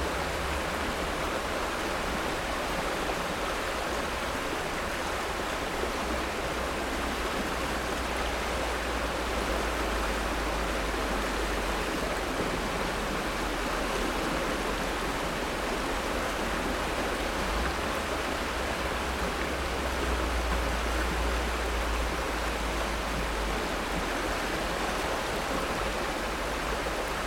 high water flow on a side tributary 0.0 - 27.2

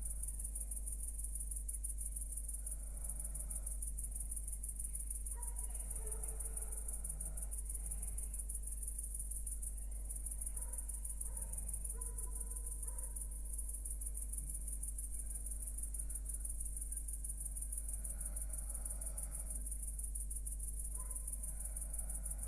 crickets 0.0 - 22.4

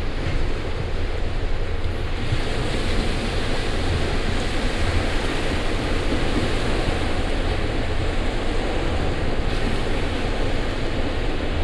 sea waves 0.0 - 11.6

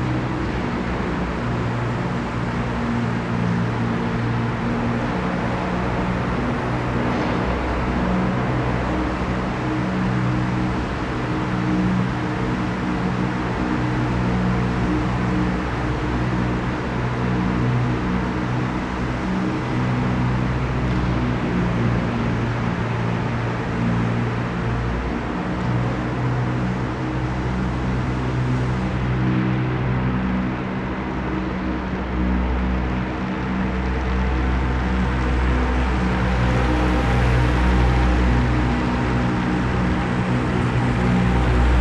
street traffic from the nearby street 0.0 - 41.8

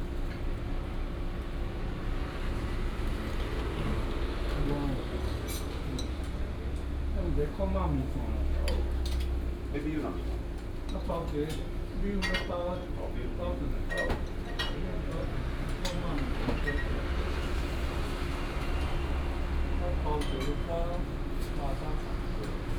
Traffic sound 17.0 - 22.7

